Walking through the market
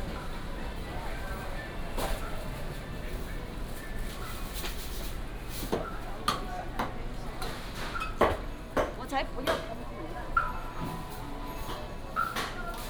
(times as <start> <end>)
0.0 7.8